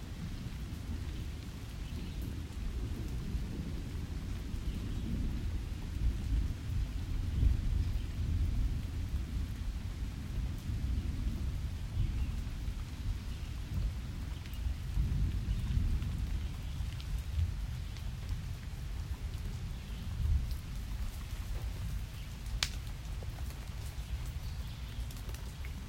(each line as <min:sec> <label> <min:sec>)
0:00.0 nature 0:25.8
0:22.6 twig crack in middle 0:22.9